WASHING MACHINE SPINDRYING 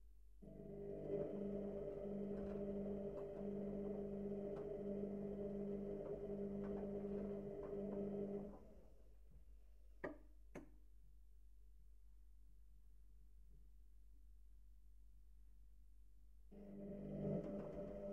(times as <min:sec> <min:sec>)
0:00.5 0:09.0, 0:16.6 0:18.1